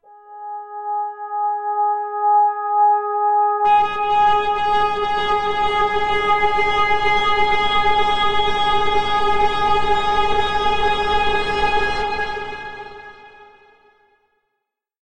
Big full pad sound 0:03.7 - 0:13.4

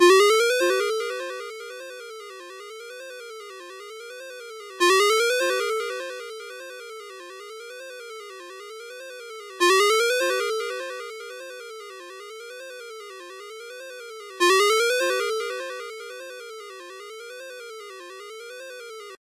ringtone 0:00.0 - 0:13.3
ringtone 0:14.4 - 0:19.2

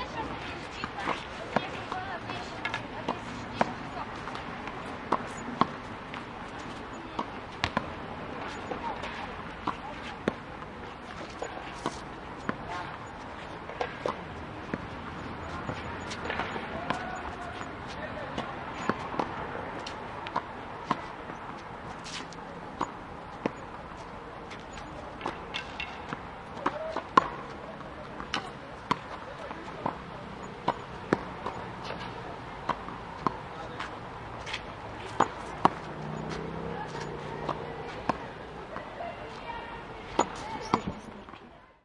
squash game 0:00.0 - 0:41.5

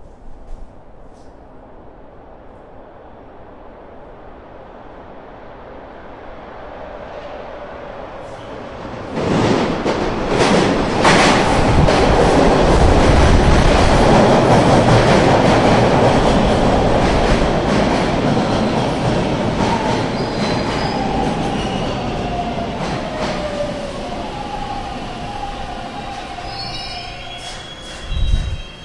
train enters station 0:00.0 - 0:28.8

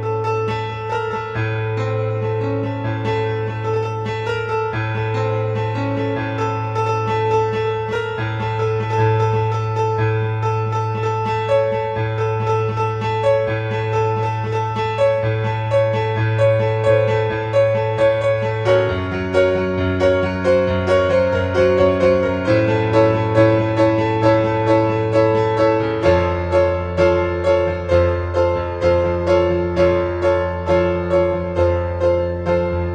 piano 0:00.0 - 0:32.9

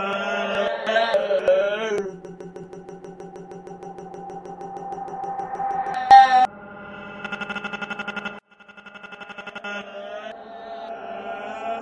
glitched crying 0:00.0 - 0:03.1

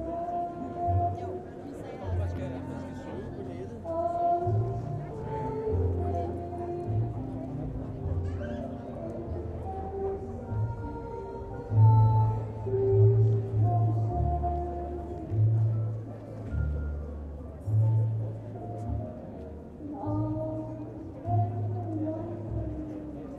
singer 0:00.0 - 0:18.4
singer 0:19.3 - 0:23.3

